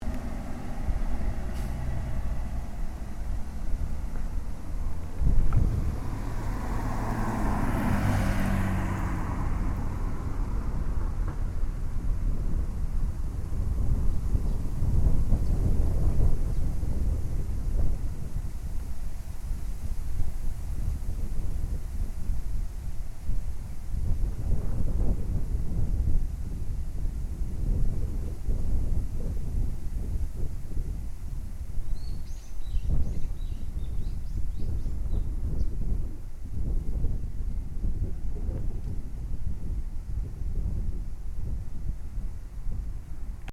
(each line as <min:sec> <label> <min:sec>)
0:00.0 car 0:43.5
0:00.0 wind 0:43.5